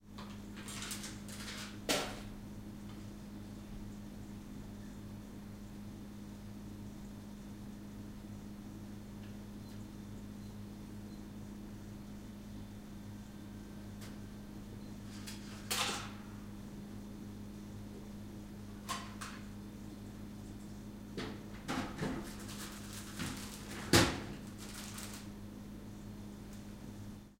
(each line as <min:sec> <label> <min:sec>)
0:00.0 Audible hum and buzz 0:27.3
0:00.1 buying food in the vending machine 0:02.4
0:21.2 buying food in the vending machine 0:25.5